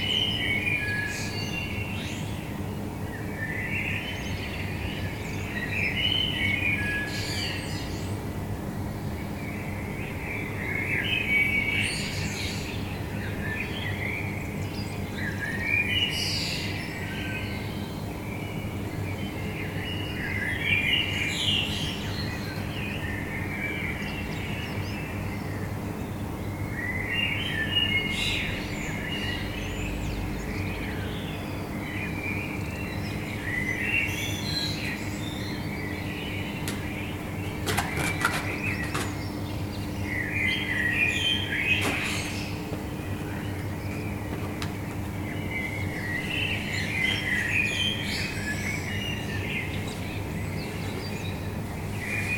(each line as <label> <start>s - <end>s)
bird song 0.0s - 52.3s
city noise 0.0s - 52.3s
metro 16.6s - 52.3s